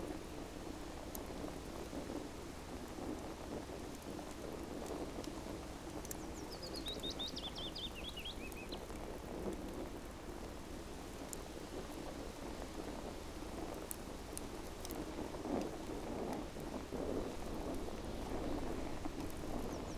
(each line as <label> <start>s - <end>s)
Campfire 0.0s - 19.9s